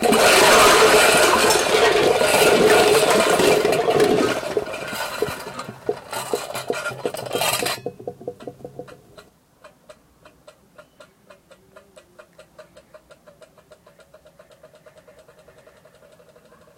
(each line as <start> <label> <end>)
0.0 giant crash 5.8